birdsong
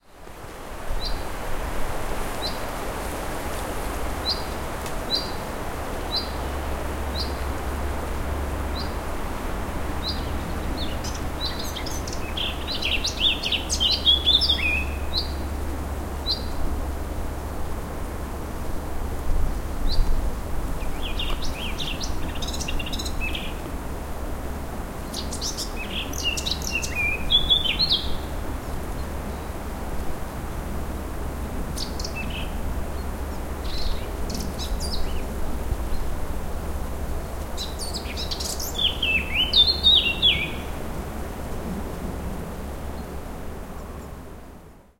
4.2s 7.6s, 9.9s 15.6s, 20.8s 23.7s, 25.0s 29.6s, 31.8s 36.2s, 37.4s 40.8s

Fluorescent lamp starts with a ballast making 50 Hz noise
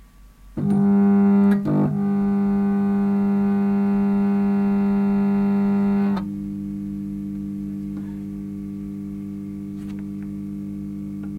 0.6s 6.3s

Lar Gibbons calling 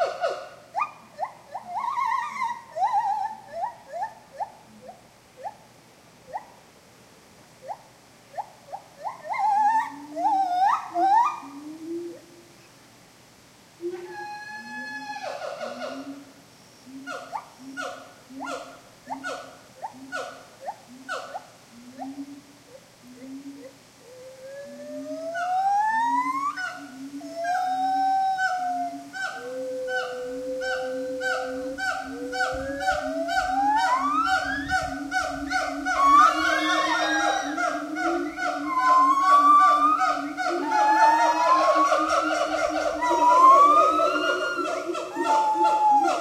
16.9s 46.2s

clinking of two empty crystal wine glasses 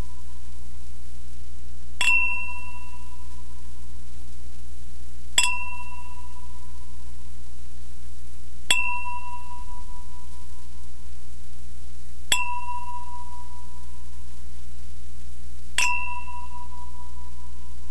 2.0s 3.0s, 5.4s 6.3s, 8.7s 9.9s, 12.3s 13.6s, 15.8s 17.0s

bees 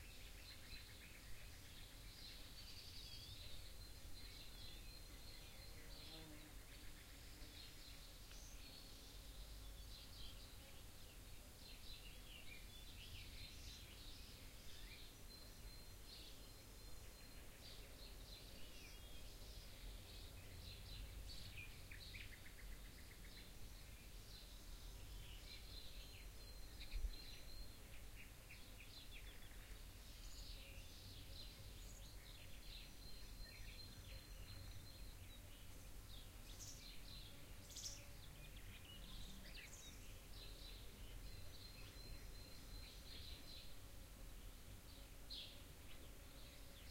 3.8s 7.6s

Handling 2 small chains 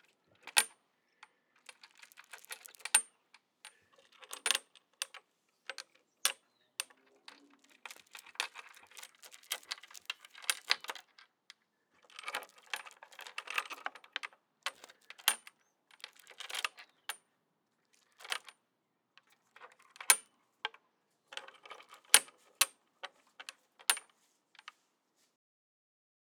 1.6s 3.1s, 7.6s 11.0s

